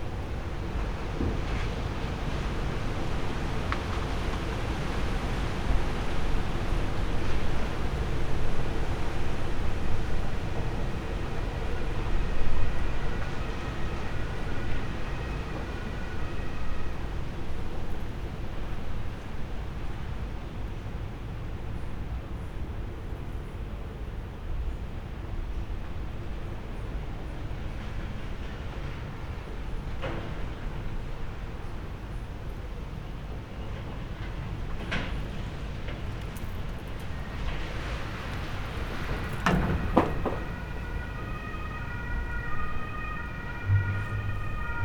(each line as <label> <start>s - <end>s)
strong wind with rain 0.0s - 22.2s
wind 0.0s - 44.8s
strong wind with rain 25.8s - 44.8s
thunder 34.2s - 44.8s